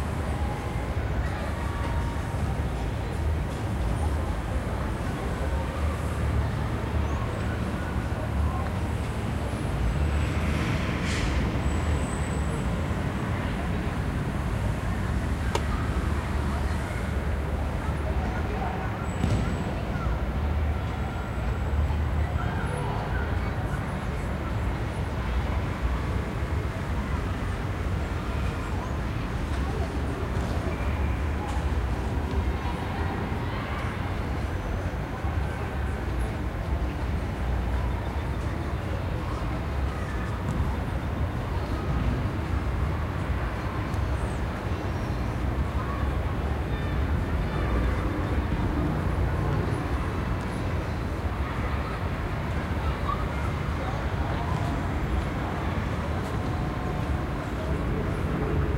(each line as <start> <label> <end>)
12.8 children playing 58.7